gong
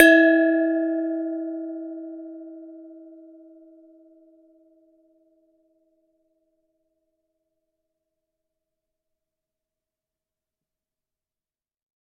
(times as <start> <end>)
0.0 4.0